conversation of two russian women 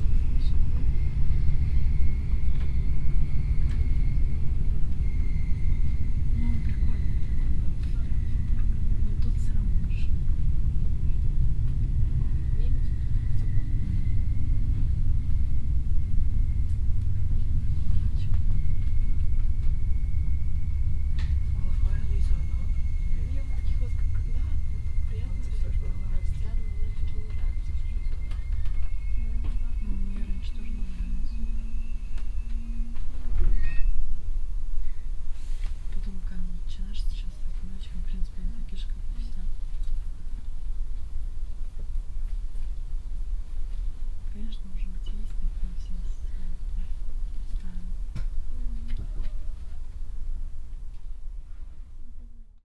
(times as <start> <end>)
6.2 13.3, 21.3 31.9, 35.9 40.6, 44.3 49.4